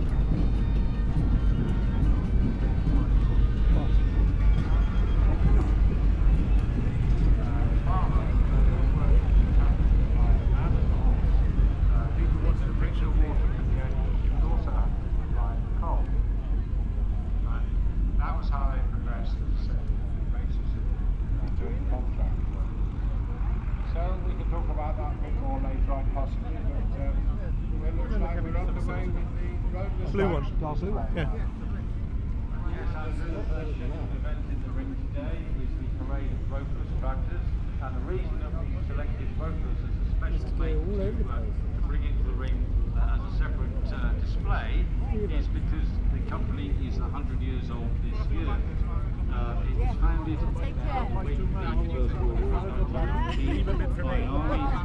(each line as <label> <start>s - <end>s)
steam organ 0.0s - 16.6s
engines modern and old 0.0s - 54.8s
voices 0.0s - 54.8s